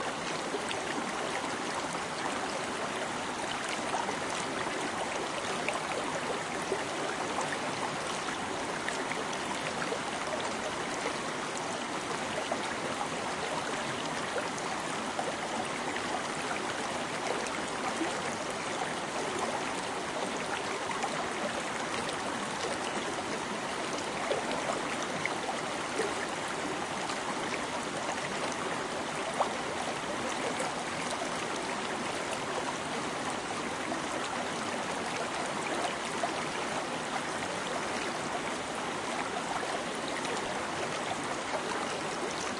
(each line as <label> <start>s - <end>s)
water is quiet rippling and bubbling 0.0s - 42.5s